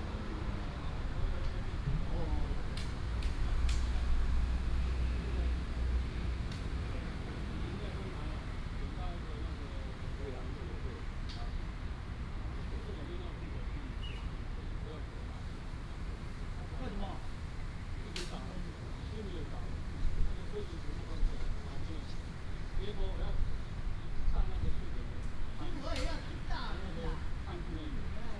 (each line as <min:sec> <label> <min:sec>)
0:00.0 traffic sound 0:28.3
0:00.0 wind 0:28.3
0:13.4 birds sound 0:14.4